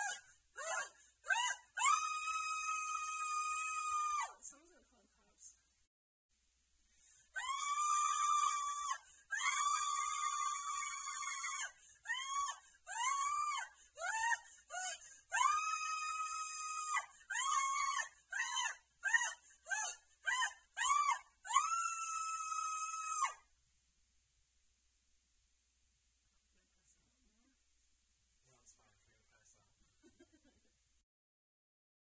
scream woman 0:00.0 - 0:04.4
scream woman 0:07.4 - 0:23.4

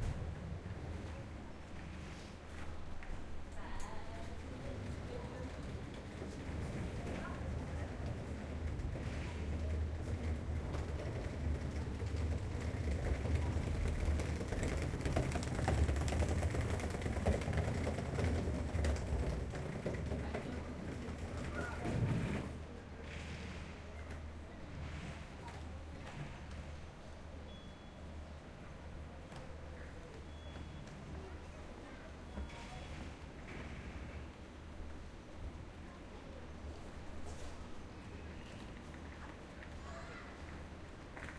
train 0:00.0 - 0:41.3
passager with rolling suitaces 0:03.0 - 0:23.0
crowd 0:03.6 - 0:34.4

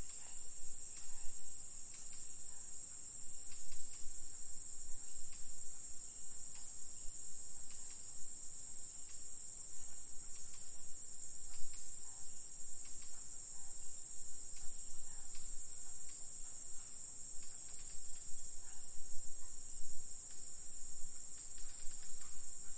insects 0:00.0 - 0:22.7
birds 0:08.9 - 0:22.7

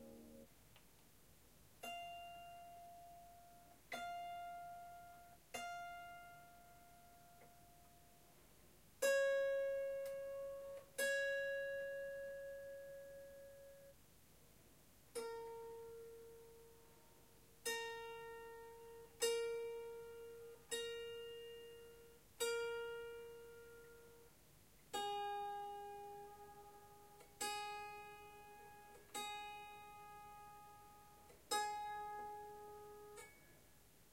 in-tune strums and tinkles 0:01.8 - 0:07.9
out of tune strum 0:15.1 - 0:33.6

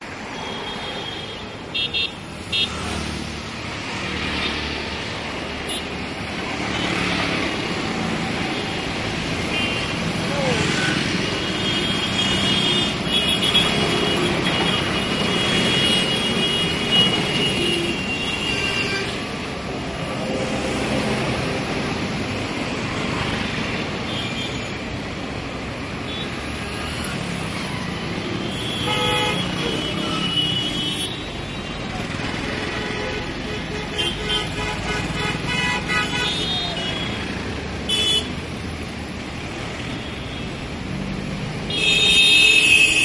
cars 0:00.0 - 0:43.0
trucks 0:00.0 - 0:43.0

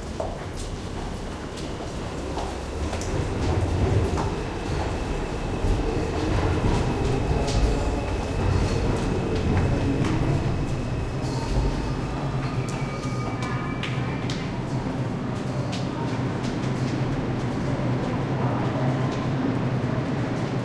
trains passby bassy 0:00.0 - 0:20.6

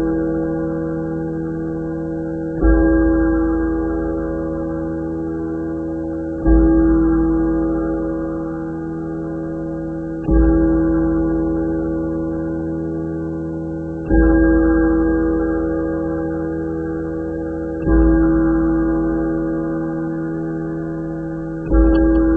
Mantle clock striking 12 0:21.7 - 0:22.3

